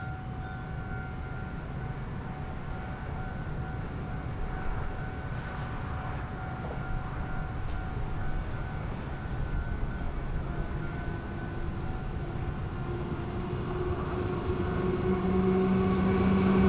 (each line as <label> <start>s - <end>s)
Train traveling through 0.2s - 16.6s